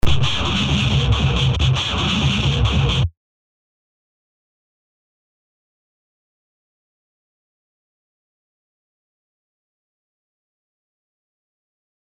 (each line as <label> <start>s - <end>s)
guitar 0.0s - 3.1s